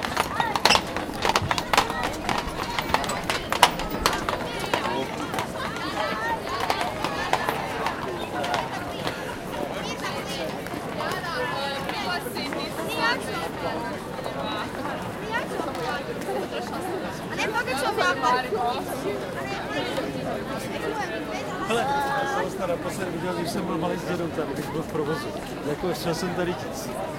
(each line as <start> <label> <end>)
0.0 walking 9.2
0.0 conversation 27.1